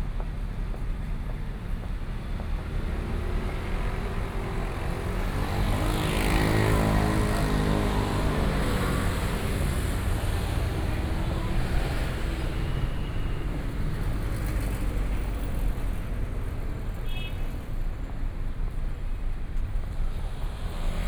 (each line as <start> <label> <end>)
0.1 Traffic Sound 21.0